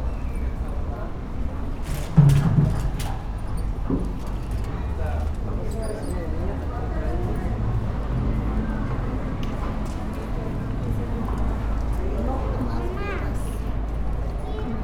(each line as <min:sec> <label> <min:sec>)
0:00.0 Walking around the market 0:14.8
0:00.0 people 0:14.8